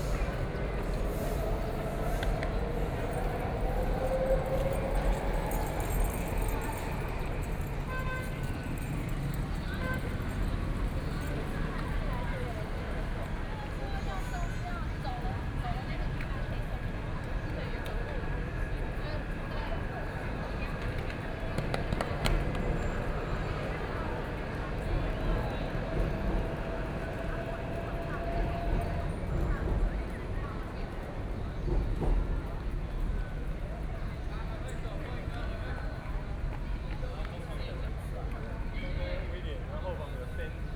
Traffic Sound 0.0 - 31.9

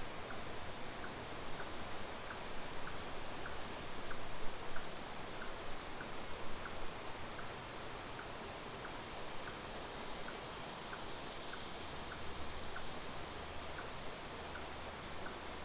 River 0.0 - 15.6

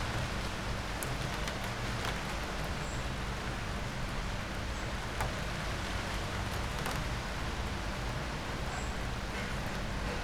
it starts to rain 0.0 - 10.2

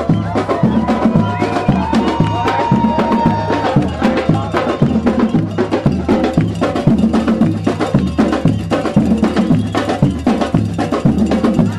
independence march 0.0 - 11.7

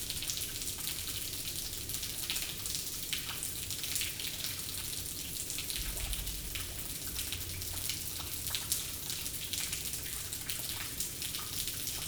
water raining from everywhere 0.0 - 12.0

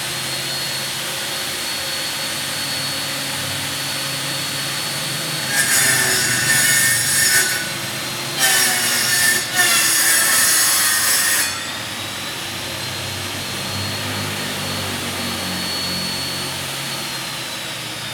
Chainsaw 0.0 - 18.1

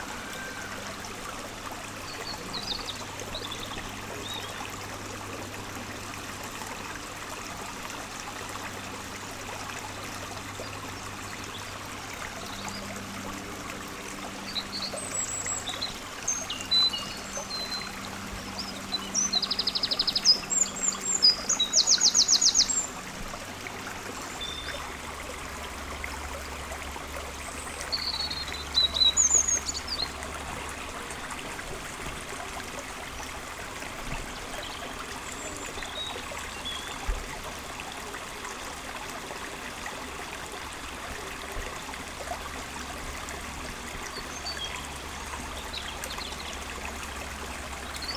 river 0.0 - 48.1
Nervous troglodyte in the trees 14.2 - 25.7
Nervous troglodyte in the trees 27.4 - 31.4

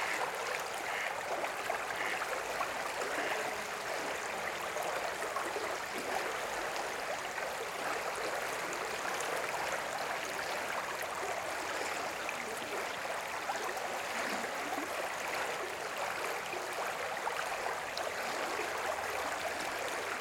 geese 0.0 - 1.2
voices and tones of the river 0.0 - 20.2
geese 1.9 - 2.3

